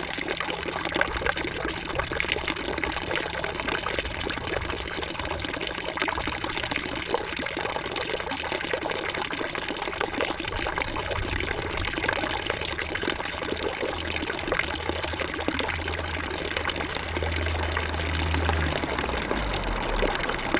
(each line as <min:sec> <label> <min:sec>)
0:00.0 l'orage commence à gronder 0:20.5
0:16.8 passage d'un 50cc qui peine dans a côte 0:20.5